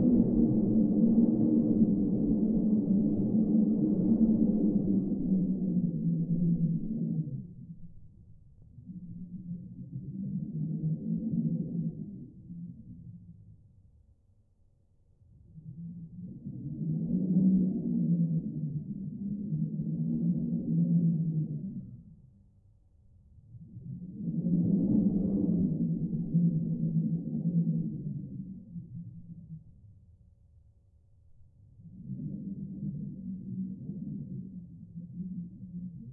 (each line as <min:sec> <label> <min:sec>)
0:00.0 airflow howling 0:08.1
0:24.3 airflow howling 0:28.7